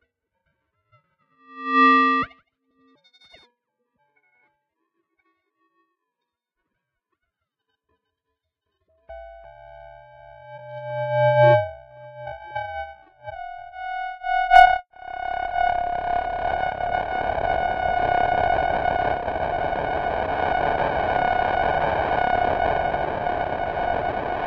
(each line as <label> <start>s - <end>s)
Digital Modulation 1.5s - 2.3s
Feedback 1.5s - 2.3s
Digital Modulation 9.1s - 24.4s
Feedback 9.1s - 24.4s